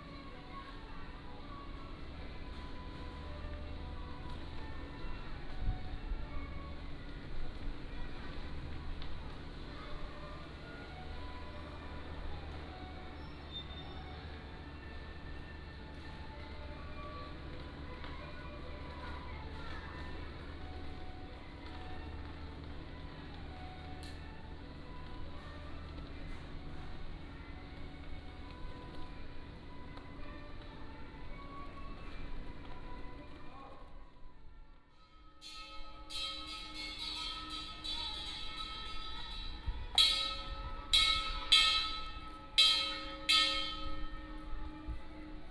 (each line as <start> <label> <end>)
35.4 Traffic Sound 45.5